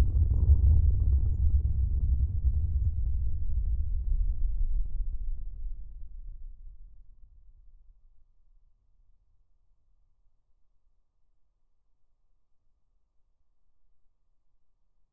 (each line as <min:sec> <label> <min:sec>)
0:00.0 rumble 0:08.4